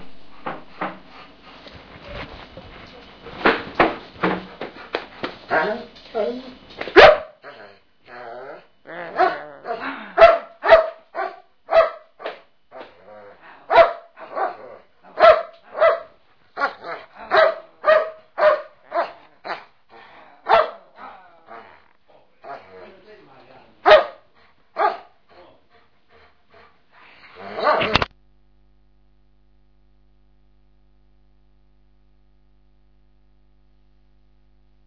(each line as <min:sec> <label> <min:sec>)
0:07.0 barks 0:07.8
0:09.0 barks 0:13.0
0:13.7 barks 0:19.7
0:20.4 barks 0:21.8
0:23.8 barks 0:25.5
0:27.4 barks 0:28.1